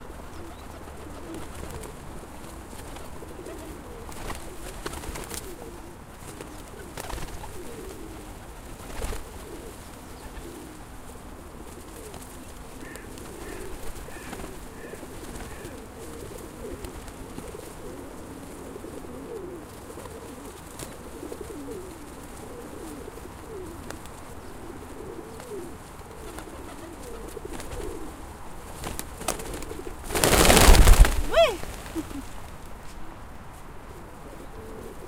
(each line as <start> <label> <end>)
0.0 pigeons coo 35.0
0.2 Pigeons flutter a bit 32.9
11.5 Pigeons peck feed 28.1